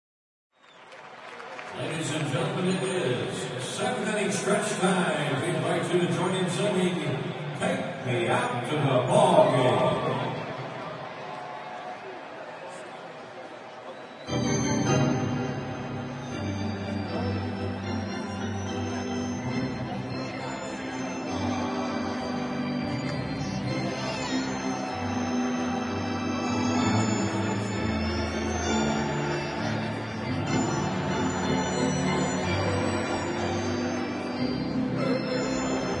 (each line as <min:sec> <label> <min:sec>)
0:00.5 crowd 0:36.0
0:01.7 Announcer introduces the organ 0:10.8
0:14.2 organ playing 0:36.0
0:14.3 Announcer introduces the organ 0:36.0